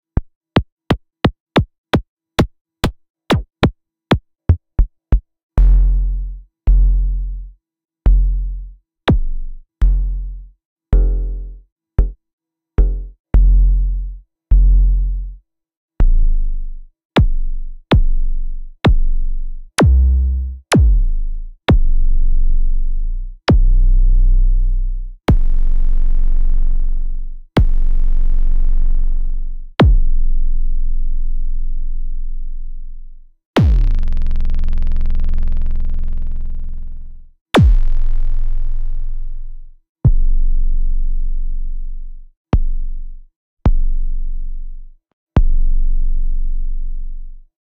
Kicks i've recorder with semi modular synth 0:19.8 - 0:22.1
Kicks i've recorder with semi modular synth 0:23.5 - 0:23.8
Kicks i've recorder with semi modular synth 0:25.3 - 0:27.0
Kicks i've recorder with semi modular synth 0:27.6 - 0:30.2
Kicks i've recorder with semi modular synth 0:33.6 - 0:36.8
Kicks i've recorder with semi modular synth 0:37.6 - 0:39.2

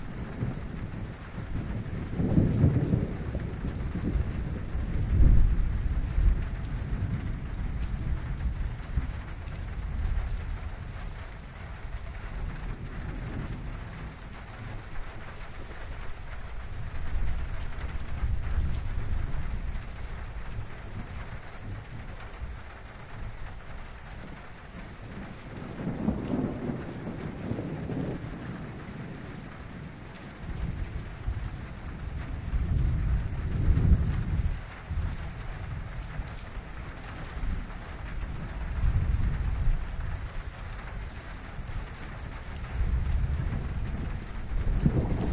Rain on metal roof 0:00.0 - 0:45.3
distant thunder 0:00.0 - 0:45.3

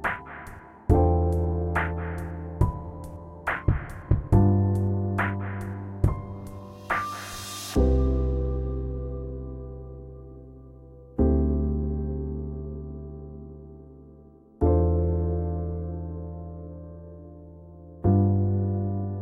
drums 0:00.0 - 0:07.9
piano 0:00.0 - 0:19.2

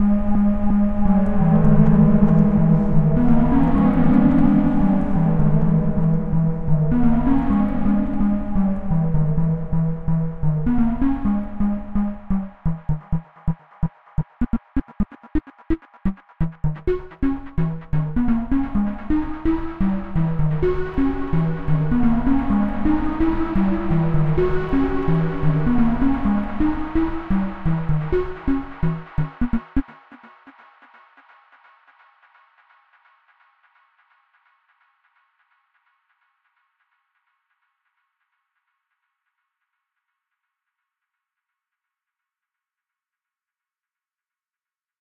synth 0:00.0 - 0:30.3

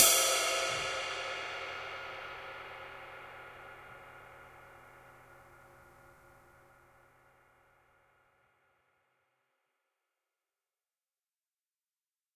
Bounce Ride Cymbal 0:00.0 - 0:07.4

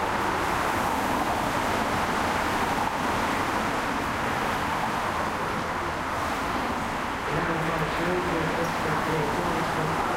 Traffic on freeway 0:00.0 - 0:10.1

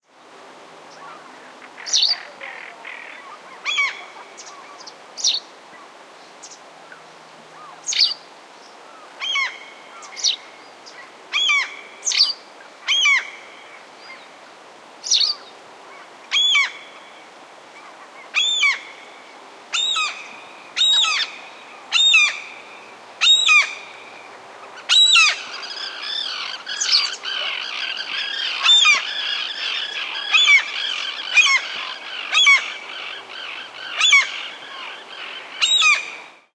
common terns at the background 0:00.9 - 0:05.4
common terns at the background 0:24.6 - 0:36.2
Common gull 0:24.6 - 0:36.3

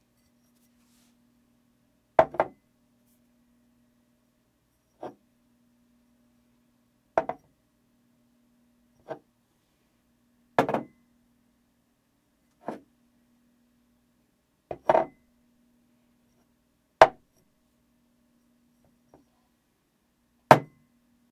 Setting a Glass down 0:14.7 - 0:15.2

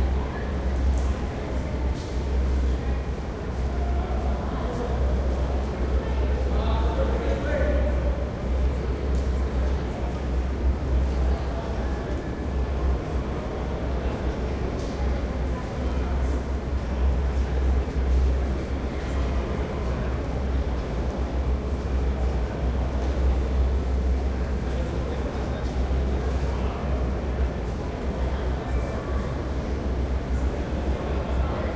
heavy ventilation and hum 0:00.0 - 0:31.7
light crowd 0:00.0 - 0:31.7

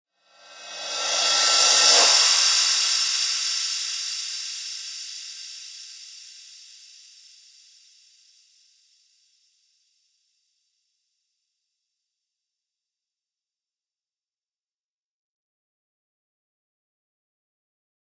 Reverse Cymbal 0:00.2 - 0:08.6

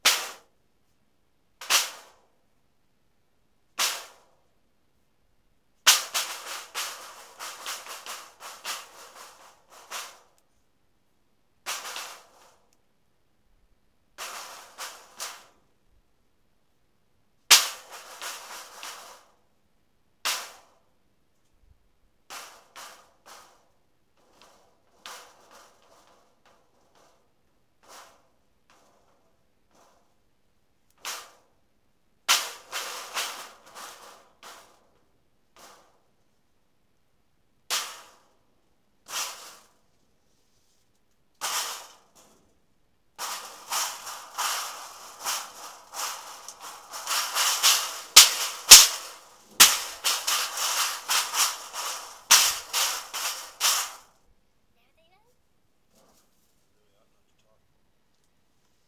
aluminum cans being thrown at a tin heating duct 0:05.9 - 0:10.3
aluminum cans being thrown at a tin heating duct 0:11.6 - 0:12.6
aluminum cans being thrown at a tin heating duct 0:17.5 - 0:19.3
aluminum cans being thrown at a tin heating duct 0:32.3 - 0:36.0
aluminum cans being thrown at a tin heating duct 0:41.4 - 0:42.6
aluminum cans being thrown at a tin heating duct 0:43.2 - 0:54.1

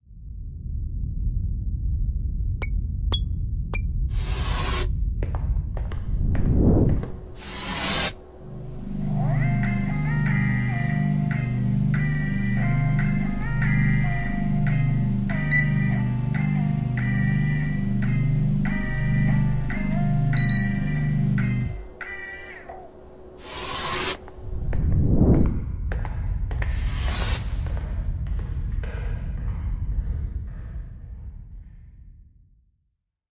synth 0:06.5 - 0:25.6
beeping 0:15.4 - 0:16.0
beeping 0:20.3 - 0:22.1

